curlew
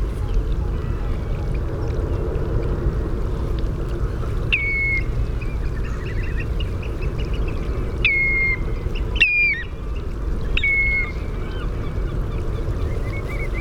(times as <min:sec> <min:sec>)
0:04.0 0:13.6